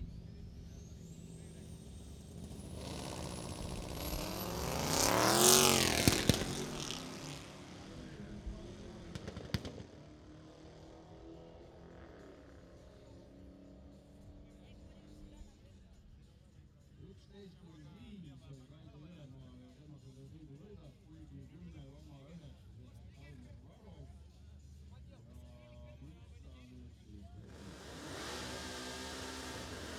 0.2s drag race 15.3s
27.4s drag race 29.9s

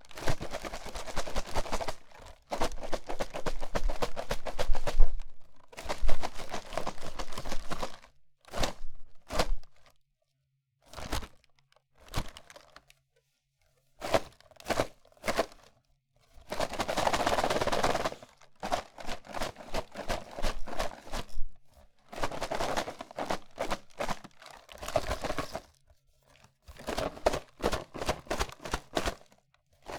0.1s Cracker Box Shaking 8.8s
16.4s Cracker Box Shaking 21.3s
22.1s Cracker Box Shaking 25.7s
26.7s Cracker Box Shaking 29.9s

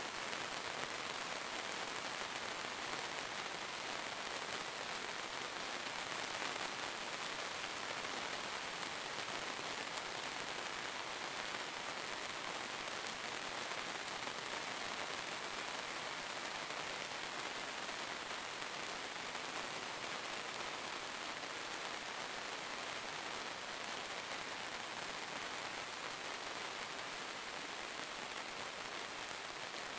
0.0s rain 29.9s

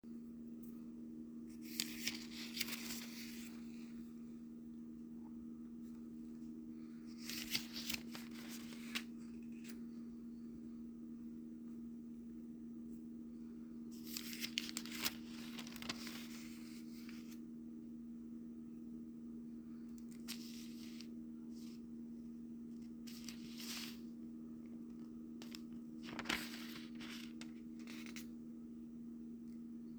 1.5s pages flipping 3.9s
7.1s pages flipping 9.8s
14.0s pages flipping 17.4s
20.0s pages flipping 21.8s
22.8s pages flipping 24.1s
25.0s pages flipping 28.3s

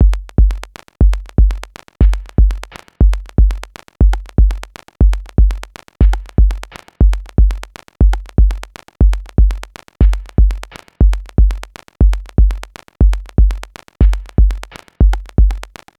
0.0s drum loop 15.9s

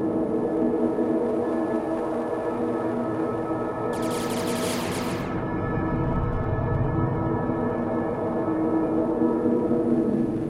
4.0s drone 7.2s

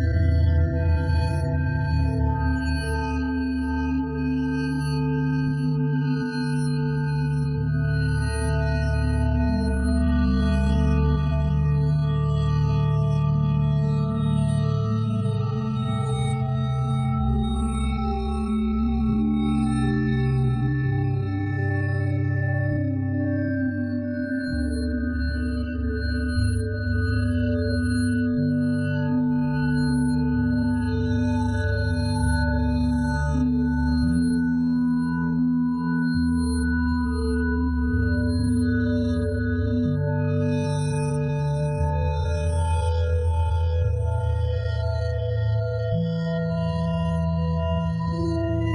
0.0s drone 48.7s

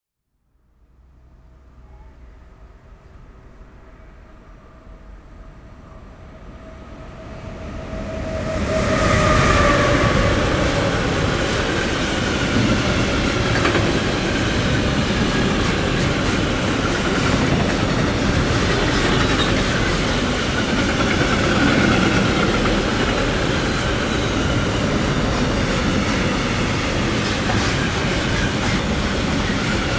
0.8s Cargo train loaded with brand new vehicles passing by 29.9s

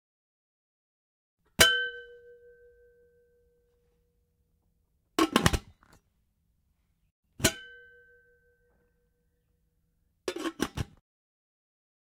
5.2s open close metal pot 6.0s
10.3s open close metal pot 11.0s

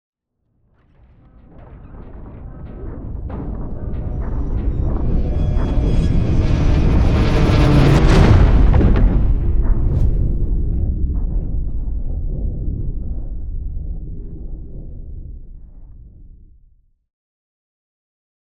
7.0s riser 10.9s
7.0s whoosh 11.2s
7.0s implosion 11.4s
7.6s boom 11.5s

